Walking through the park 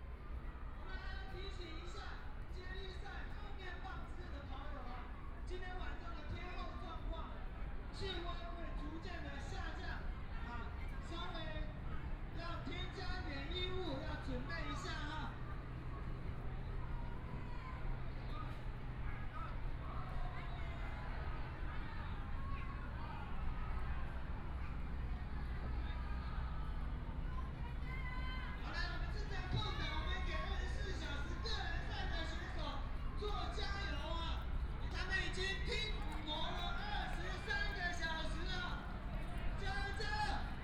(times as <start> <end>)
10.8 40.6